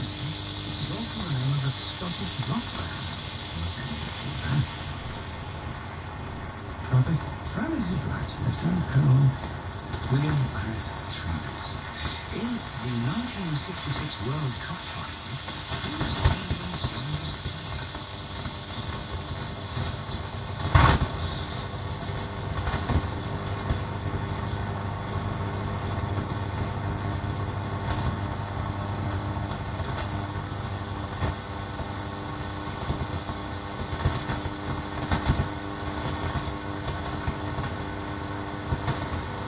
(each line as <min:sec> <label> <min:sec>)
0:00.0 short static noises 0:39.4
0:00.0 tube radio shortwave longwave noise interference 0:39.4